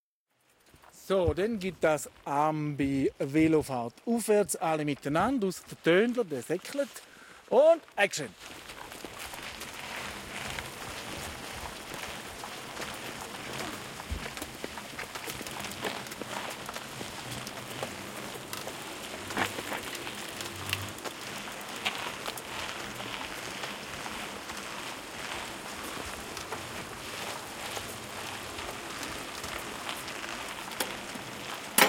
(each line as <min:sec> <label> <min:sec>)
0:08.4 4 Bikes upwards 0:31.8